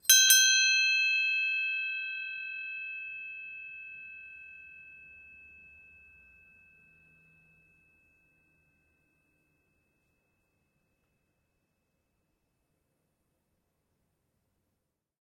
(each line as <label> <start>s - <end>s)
ship bell 0.1s - 10.0s